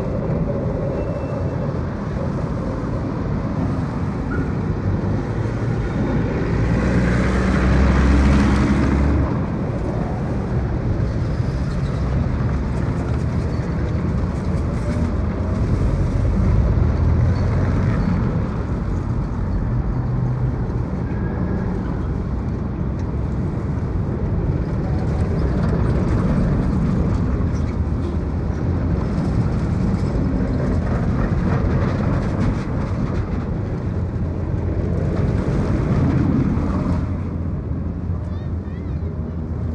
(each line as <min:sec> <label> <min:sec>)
0:00.0 cars 0:39.7
0:00.0 trams 0:39.7